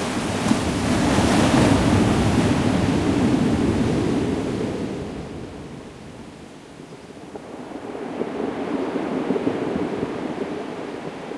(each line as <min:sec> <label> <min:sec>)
0:00.0 waves 0:11.3